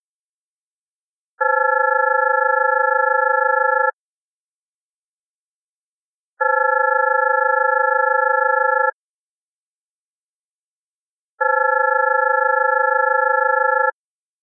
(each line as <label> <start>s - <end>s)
phone 1.4s - 4.0s
phone 6.4s - 9.0s
phone 11.4s - 14.0s